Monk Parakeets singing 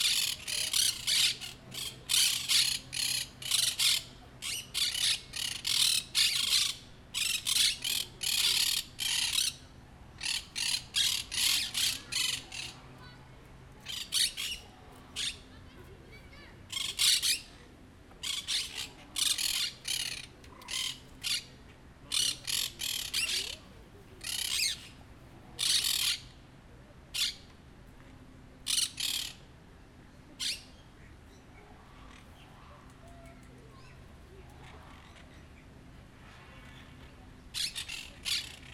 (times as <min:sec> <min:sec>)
0:00.0 0:12.8, 0:13.8 0:15.4, 0:16.7 0:17.5, 0:18.2 0:21.5, 0:22.1 0:23.6, 0:24.2 0:25.0, 0:25.6 0:26.3, 0:28.7 0:29.4, 0:30.4 0:30.6, 0:37.6 0:38.7